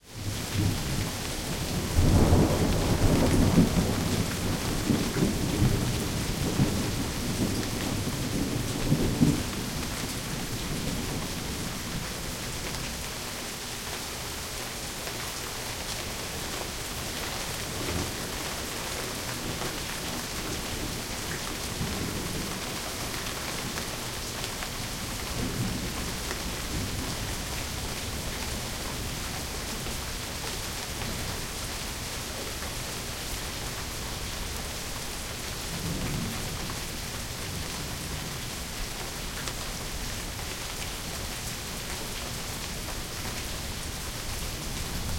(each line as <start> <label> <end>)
0.0 Rain 45.1
0.2 thunder 12.0